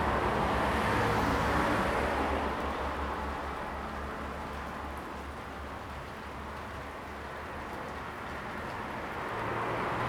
rain 0.0 - 10.0
Traffic 8.8 - 10.0

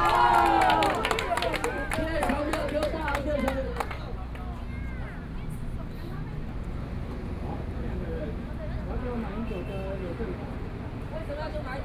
Shouting slogans 0.0 - 3.1

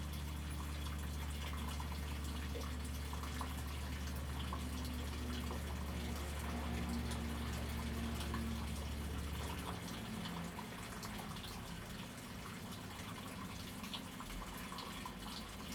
water 0.0 - 15.7

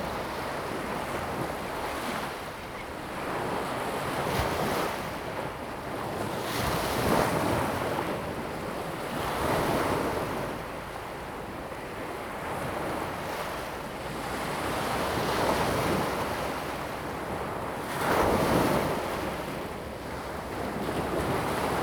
waves and tides 12.4 - 21.8

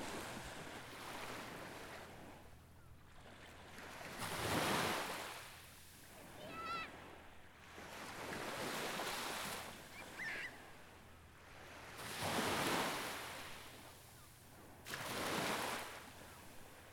quiet waves 0.0 - 16.9
seagulls 9.9 - 10.6

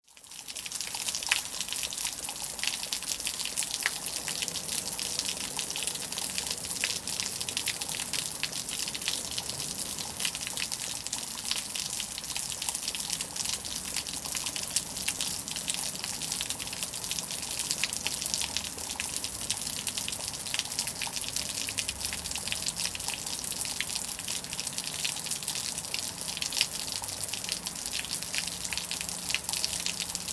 Heavy rain, damaged eaves gutter 0.2 - 30.3

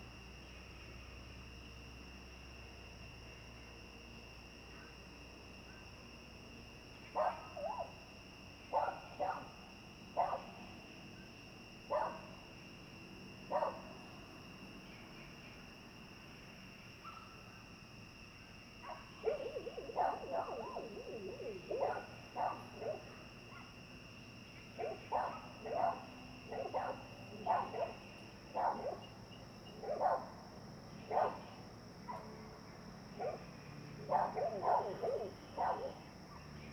insects 0.0 - 36.7
Frogs chirping 4.6 - 36.7
Dogs barking 7.2 - 7.9
Dogs barking 8.7 - 9.6
Dogs barking 10.2 - 10.6
Dogs barking 11.9 - 12.3
Dogs barking 13.5 - 14.0
Dogs barking 18.8 - 23.8
Dogs barking 24.8 - 30.4
Dogs barking 31.0 - 32.4
Dogs barking 33.1 - 36.7

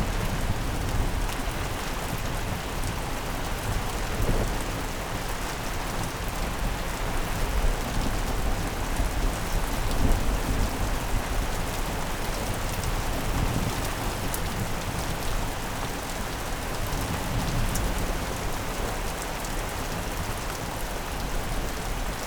Heavy Rain 0.0 - 22.2

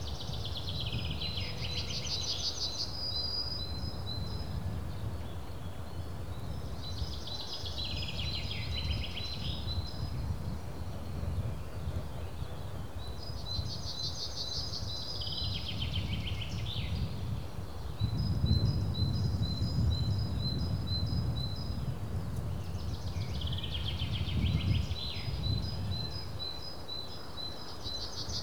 birds sing in regular intervals 0.0 - 28.4

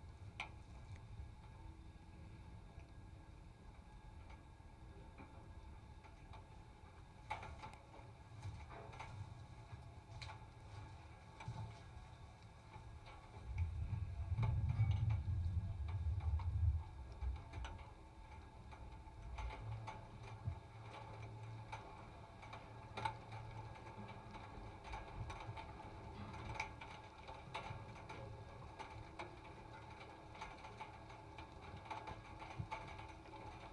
rain starts 8.4 - 33.7

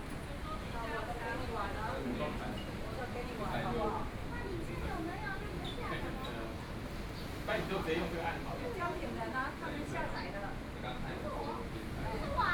waves 2.8 - 12.5

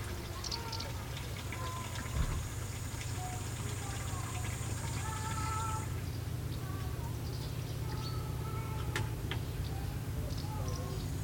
birds 0.0 - 11.2
voices 0.0 - 11.2
bushcrickets 0.4 - 5.9

